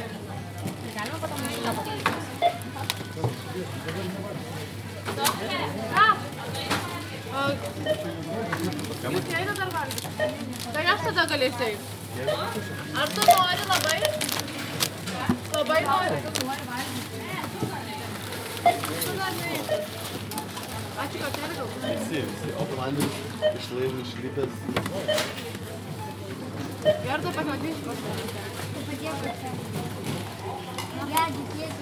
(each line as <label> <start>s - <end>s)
People in line talking 0.0s - 31.8s
groceries being bagged 0.1s - 4.1s
groceries being bagged 6.6s - 23.0s